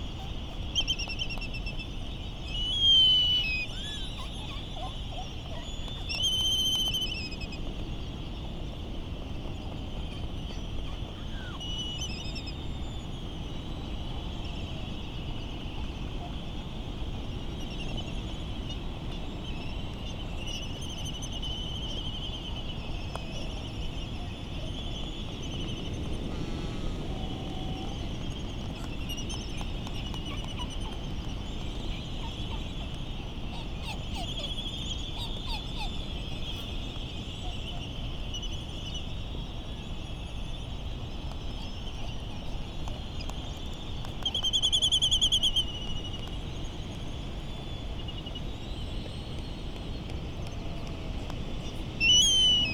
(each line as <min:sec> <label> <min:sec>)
0:22.8 island traffic noise 0:39.6
0:25.7 laysan calls 0:38.0
0:51.7 laysan calls 0:52.7